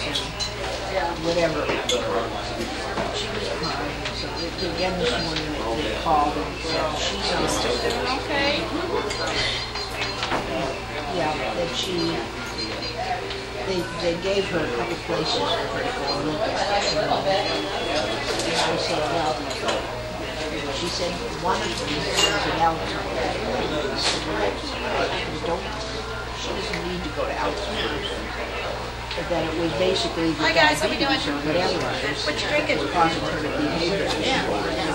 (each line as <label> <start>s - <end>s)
idle chatter 0.0s - 34.9s